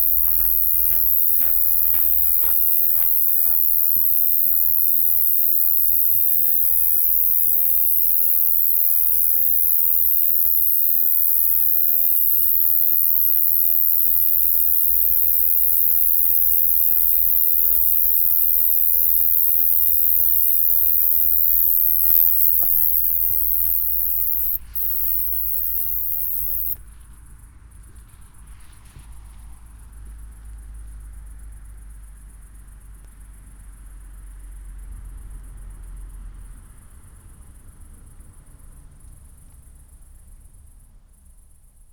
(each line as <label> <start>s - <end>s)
night cricket 0.0s - 41.9s